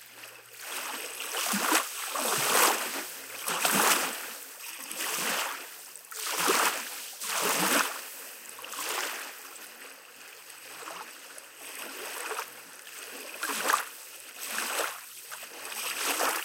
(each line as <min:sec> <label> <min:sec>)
0:00.5 seashore 0:09.8